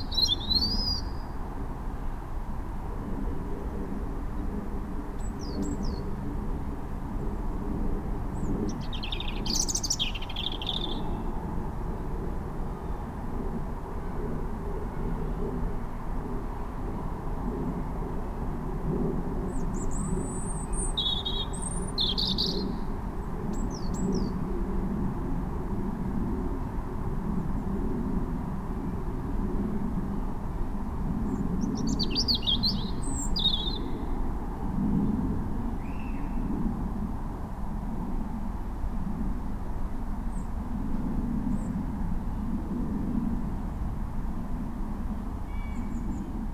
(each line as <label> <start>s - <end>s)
Robin singing 0.0s - 1.4s
Robin singing 8.7s - 11.3s
Robin singing 19.7s - 22.9s
Robin singing 31.7s - 34.1s